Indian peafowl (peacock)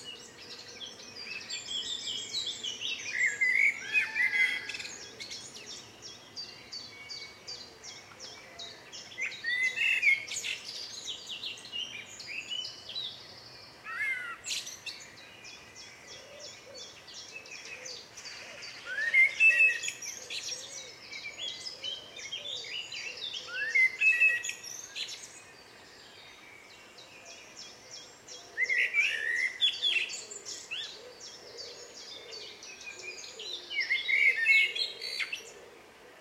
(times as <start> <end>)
3.2 5.5